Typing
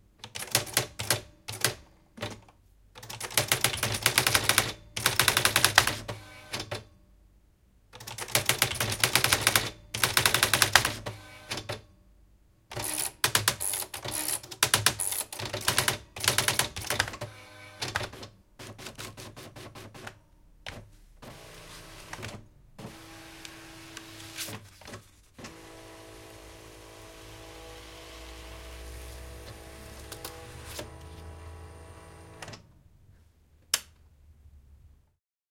3.0s 6.0s, 8.0s 11.0s, 12.8s 17.1s

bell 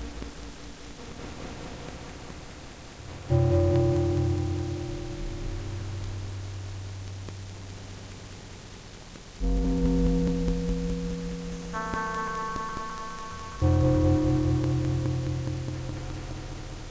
3.3s 6.5s, 9.4s 16.9s

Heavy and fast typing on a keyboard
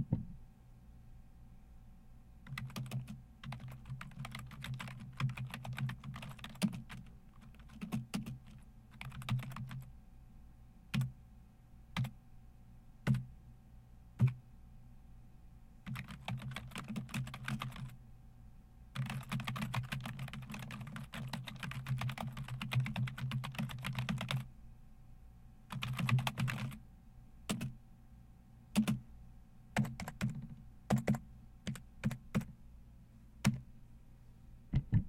2.5s 9.9s, 15.9s 17.9s, 19.0s 24.5s, 25.7s 26.8s, 27.5s 27.7s, 28.8s 29.0s, 29.8s 32.5s

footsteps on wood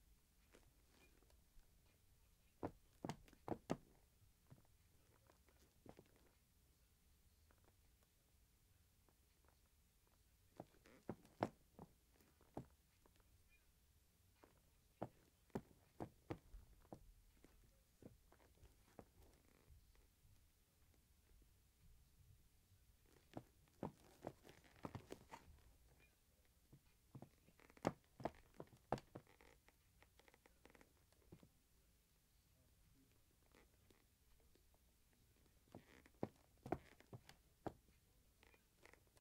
23.8s 25.4s, 27.2s 29.4s

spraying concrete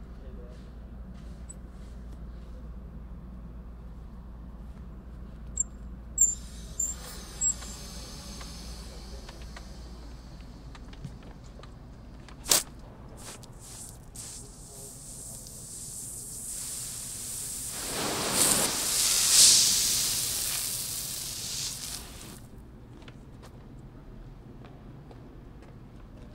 6.2s 11.1s, 13.2s 22.4s

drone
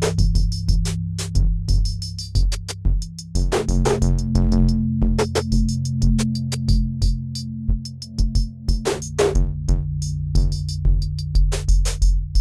3.4s 9.3s

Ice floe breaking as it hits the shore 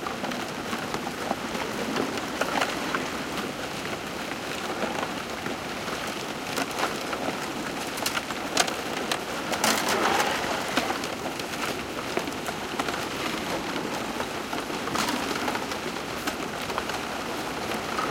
9.5s 11.0s

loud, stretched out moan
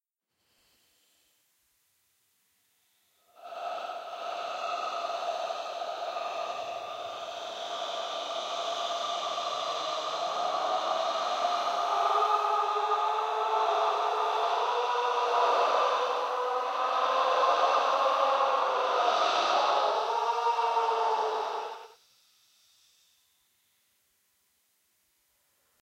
3.3s 21.9s

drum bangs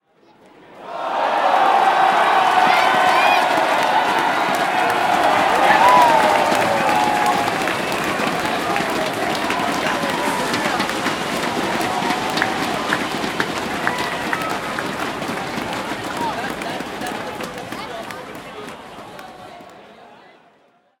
2.4s 17.7s

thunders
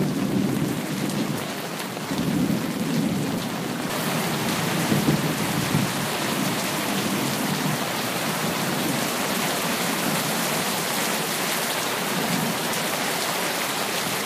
3.9s 9.2s

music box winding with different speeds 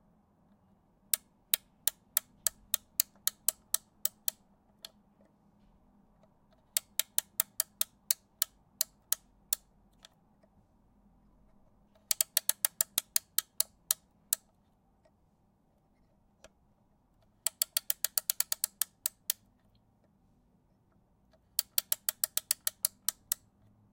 6.7s 9.2s, 12.0s 14.4s, 17.4s 19.4s, 21.6s 23.4s

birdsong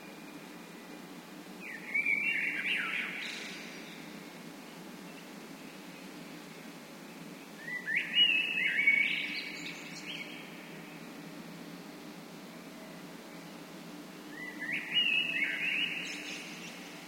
1.6s 11.6s, 14.2s 17.0s

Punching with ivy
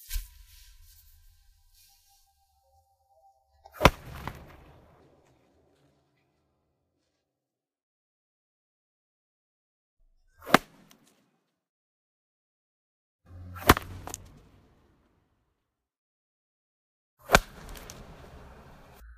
3.8s 4.7s, 10.4s 10.9s, 13.6s 14.3s, 17.3s 18.1s

